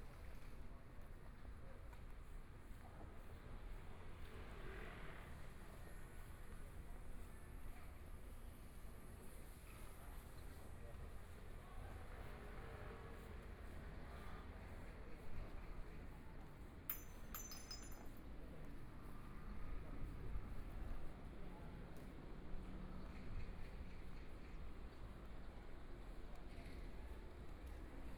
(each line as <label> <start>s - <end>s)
walking In the Street 0.0s - 28.1s